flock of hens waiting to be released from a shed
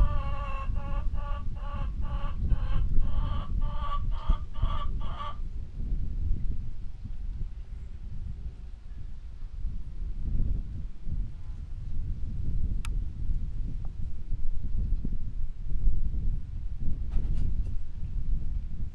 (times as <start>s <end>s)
0.0s 5.4s